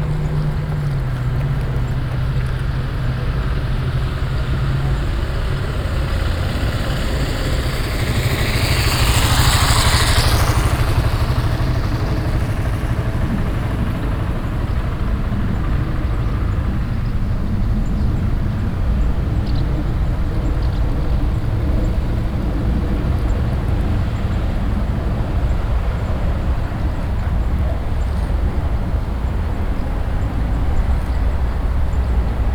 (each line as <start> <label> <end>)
0.0 chirps of some birds in the trees 29.0
0.0 constant sonorous traffic sound 32.5
0.0 jogger passing by 32.5